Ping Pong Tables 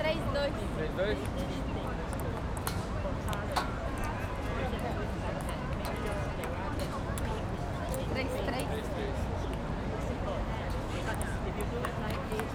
2.1 3.7

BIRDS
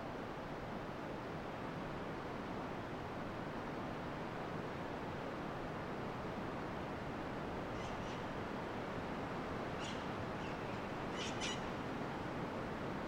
9.8 11.8

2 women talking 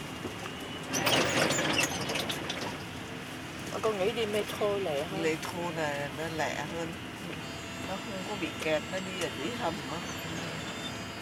3.8 10.8

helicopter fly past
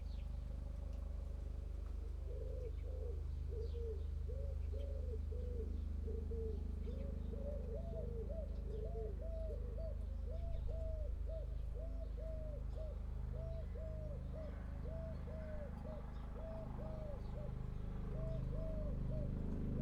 13.0 19.8

